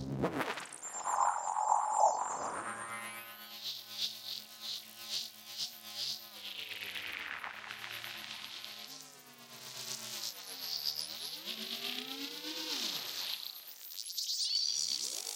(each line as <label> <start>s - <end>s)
Noisy metallic interference 0.7s - 3.4s